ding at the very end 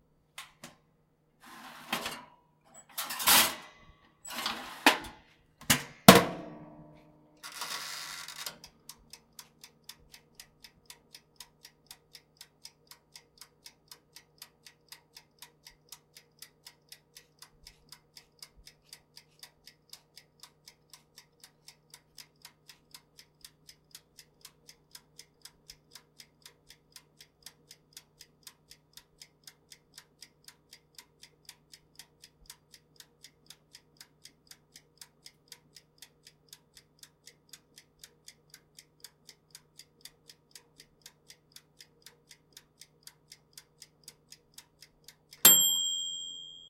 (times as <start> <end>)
45.5 46.6